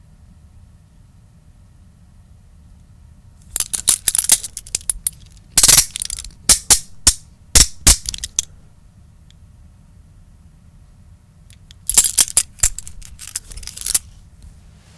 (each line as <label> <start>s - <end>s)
handcuffs taken out and closed 3.5s - 8.5s
handcuffs taken out and closed 11.5s - 14.3s